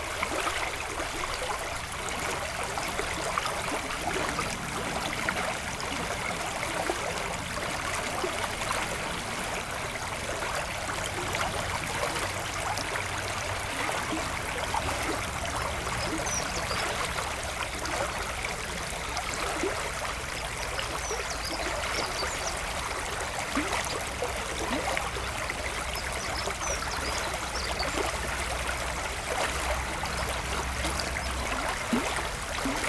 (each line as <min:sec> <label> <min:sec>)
0:00.0 river flowing quietly 0:32.8